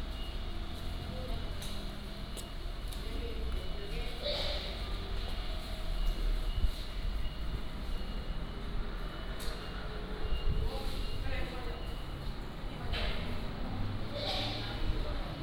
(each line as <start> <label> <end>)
11.0 Traffic Sound 15.4